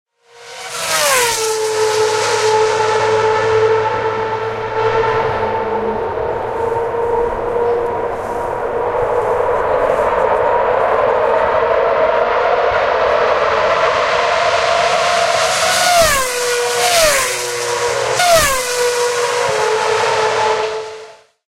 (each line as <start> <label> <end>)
0.2 Approaching F1 Cars 21.4